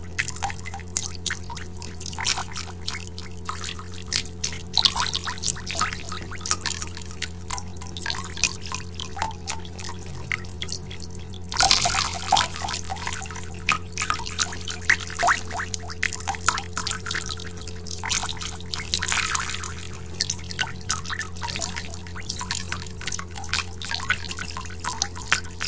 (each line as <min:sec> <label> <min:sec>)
0:00.0 WATER DRIPPING ECHO HIGH PITCH 0:25.6